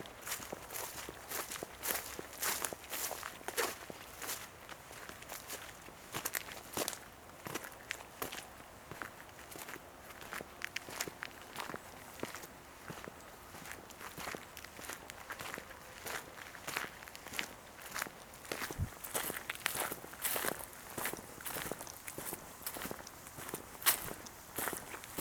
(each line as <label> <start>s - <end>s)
bed of dead leaves 0.0s - 8.2s
walk on path 0.0s - 25.2s
crossing muddy zones and several puddles 0.1s - 25.2s
bed of dead leaves 10.8s - 25.2s